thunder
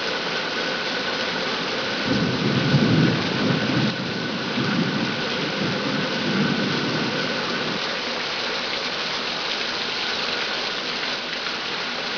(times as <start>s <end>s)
2.0s 7.8s